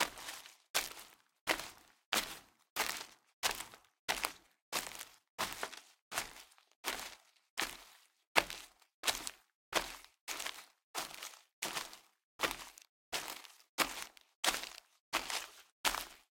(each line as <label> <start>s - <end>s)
Footsteps Leaves+Dirt 2 0.0s - 16.3s